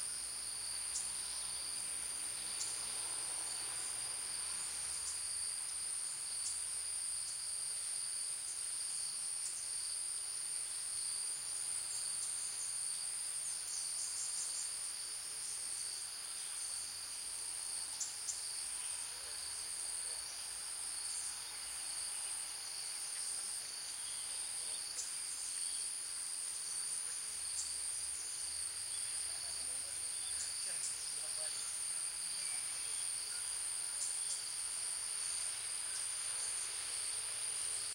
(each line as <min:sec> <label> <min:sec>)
0:00.0 crickets dense high-pitched 0:37.9